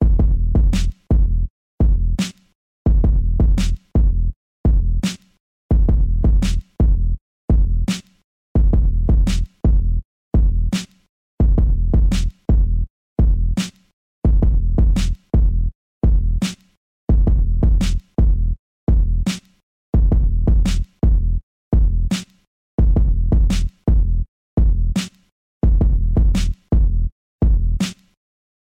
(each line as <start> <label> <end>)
0.8 snare 1.1
2.2 snare 2.5
5.0 snare 5.4
6.4 snare 6.8
7.9 snare 8.2
9.3 snare 9.6
10.8 snare 11.1
13.6 snare 13.9
16.4 snare 16.8
17.8 snare 18.2
19.3 snare 19.6
20.7 snare 21.0
22.1 snare 22.5
25.0 snare 25.3
26.4 snare 26.7
27.8 snare 28.2